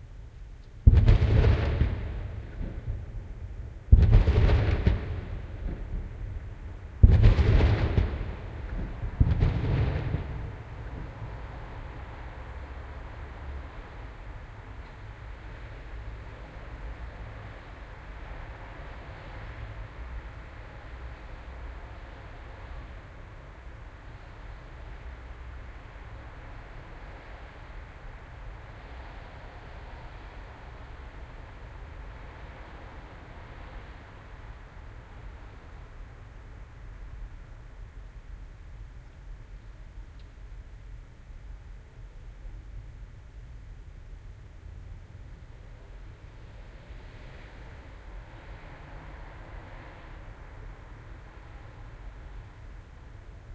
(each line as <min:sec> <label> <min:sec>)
0:00.0 traffic 0:53.5
0:00.8 fireworks 0:11.5